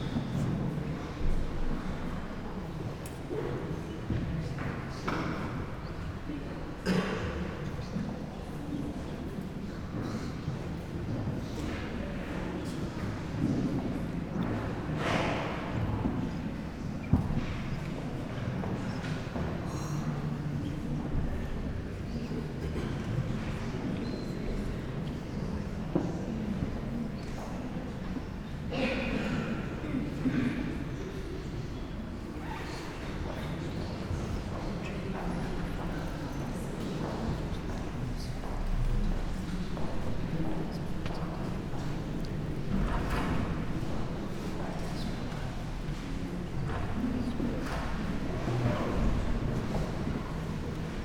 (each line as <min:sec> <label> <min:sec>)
0:00.0 murmur of people 0:51.0
0:06.8 coughs 0:07.6